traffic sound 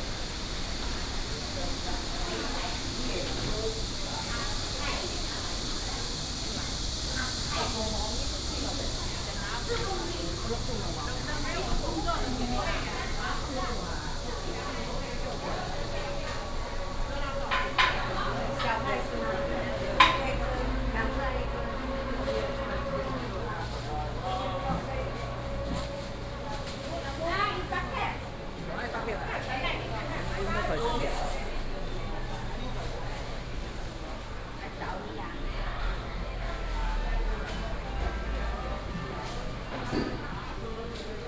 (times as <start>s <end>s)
16.3s 41.2s